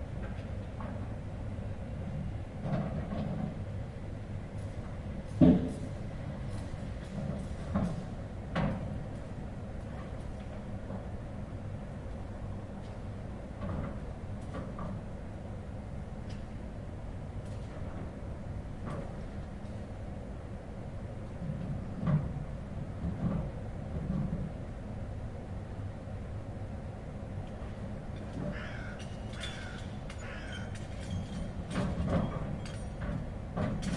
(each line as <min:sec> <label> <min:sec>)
0:00.3 securing load in the truck caravan 0:33.9